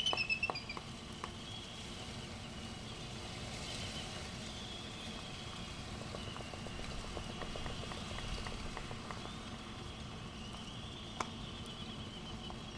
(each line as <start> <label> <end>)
0.0 laysan albatross clappering bills 1.4
5.8 laysan albatross clappering bills 11.4